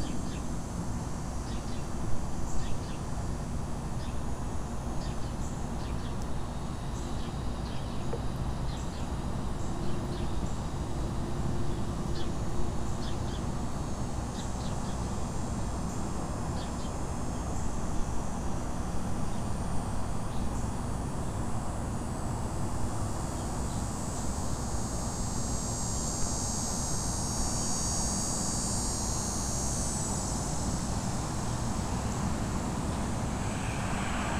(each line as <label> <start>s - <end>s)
Electric Cicadas 0.0s - 34.3s
traffic 31.0s - 34.3s